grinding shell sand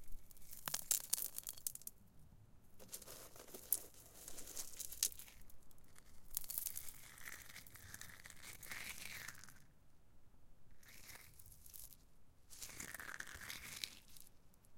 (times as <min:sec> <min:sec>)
0:02.8 0:05.4